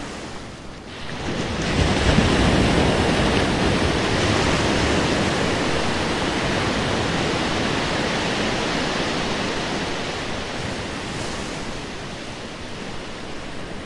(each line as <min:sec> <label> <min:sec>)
0:00.0 Ocean Waves 0:13.8